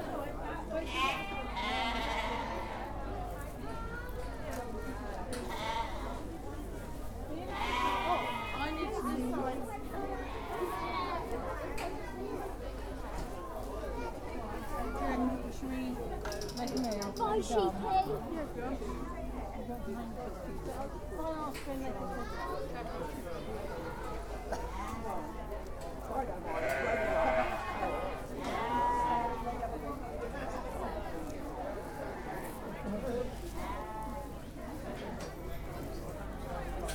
sheep 0.7 - 3.0
sheep 7.4 - 9.0
sheep 26.4 - 34.4

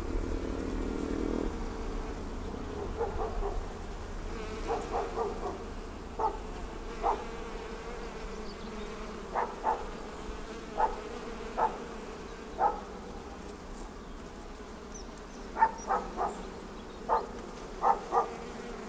swarm of bees 0.0 - 18.8
barking dog 2.7 - 3.7
birds 4.6 - 7.3
barking dog 4.6 - 7.3
birds 8.0 - 18.5
barking dog 9.3 - 10.0
barking dog 10.8 - 11.0
barking dog 11.6 - 11.9
barking dog 12.6 - 12.9
barking dog 15.6 - 16.4
barking dog 17.1 - 18.5

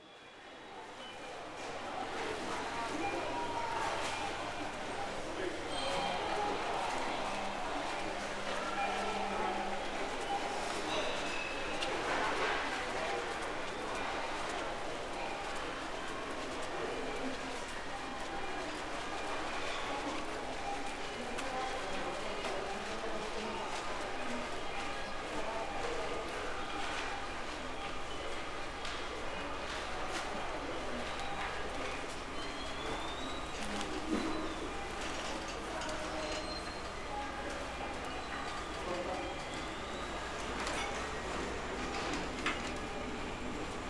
shopping cart 29.0 - 43.8

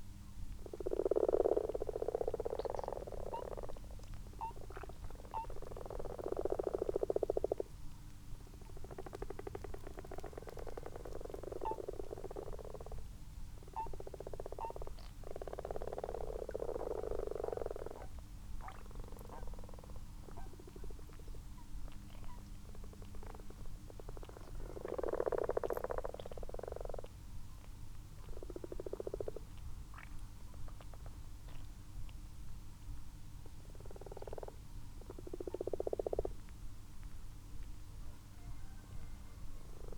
common frogs 0.4 - 32.2
common toads 0.5 - 7.8
tawny owl 0.7 - 7.7
common toads 8.4 - 32.2
tawny owl 8.5 - 27.1
common frogs 33.1 - 36.5
common toads 33.3 - 36.4
tawny owl 38.0 - 39.9
common frogs 38.1 - 39.9
common toads 39.6 - 39.9

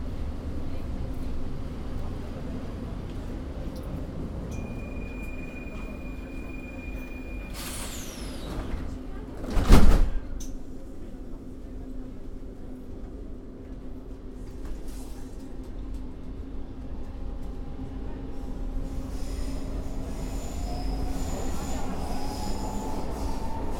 Metro 4.5 - 10.2

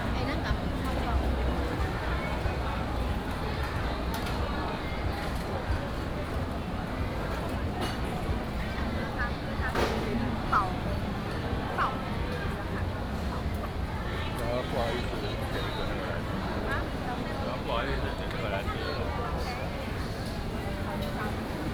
Various shops sound 0.0 - 21.7
walking in the Street 0.0 - 21.7

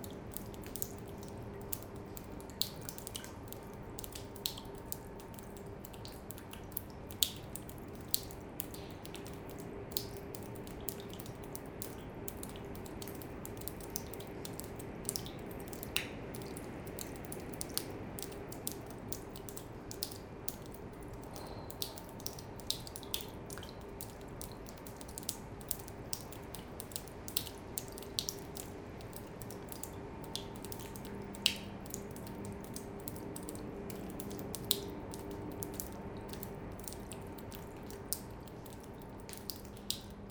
Rain in an abandoned factory 0.0 - 40.3

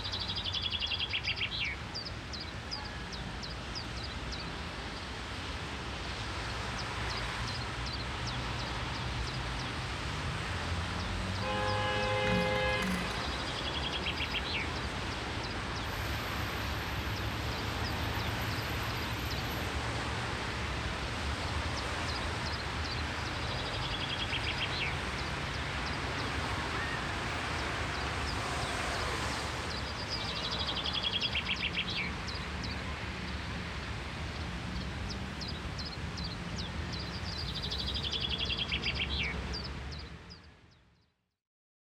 ocean surf 10.0 - 22.1
Birdsong 10.9 - 16.5
ocean surf 25.0 - 30.0
Birdsong 29.7 - 41.1

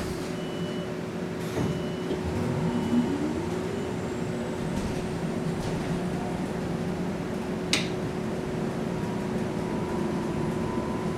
Bus 0.0 - 11.1
air vconditionning in the small electric bus 0.0 - 11.1

